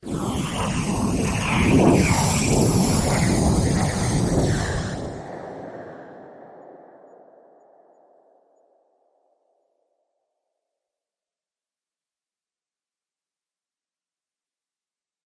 Simulated jet engine burner 0:00.0 - 0:07.2

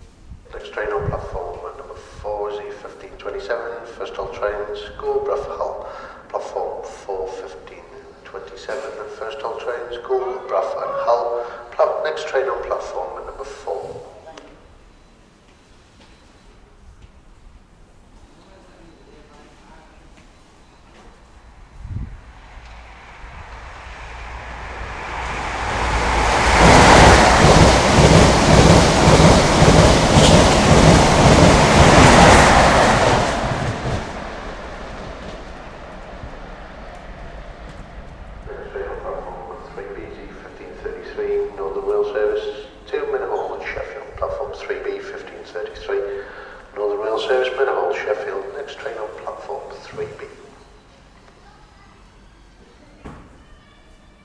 announcement 0:00.5 - 0:14.2
passing HST 0:21.1 - 0:41.8
announcement 0:38.3 - 0:50.5

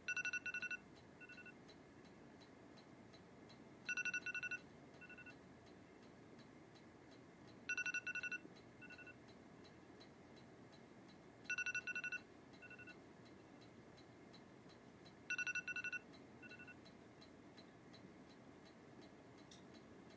Alarm 0:00.1 - 0:01.5
Alarm 0:03.9 - 0:05.3
Alarm 0:07.7 - 0:09.2
Alarm 0:11.5 - 0:13.0
Alarm 0:15.3 - 0:16.8

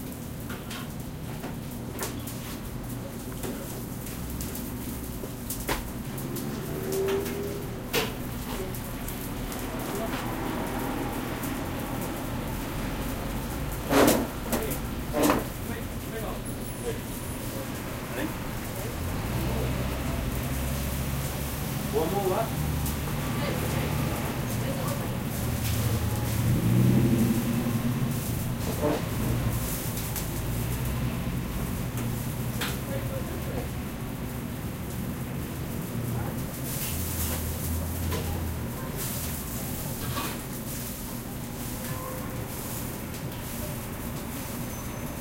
cars 0:02.0 - 0:45.2

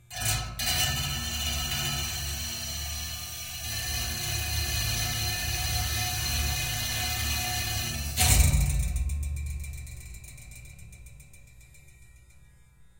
metal tank 0:00.1 - 0:11.6
Electric shaver 0:00.7 - 0:08.4

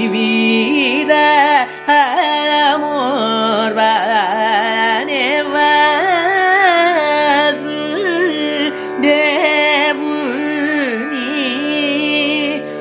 Carnatic varnam 0:00.0 - 0:12.8

